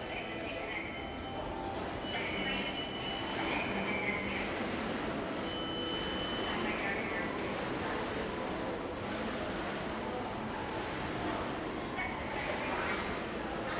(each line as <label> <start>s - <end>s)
voice from ticket information counter 0.0s - 9.4s
pedestrians 0.0s - 13.7s
voice from ticket information counter 10.0s - 13.7s